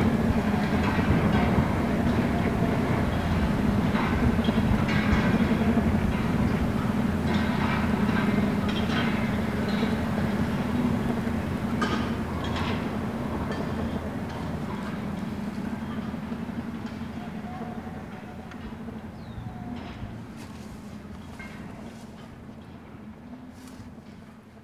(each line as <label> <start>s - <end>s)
Windstorm rattled cages 0.0s - 24.6s
ventilation turbines 0.0s - 24.6s
startled birds 1.9s - 22.8s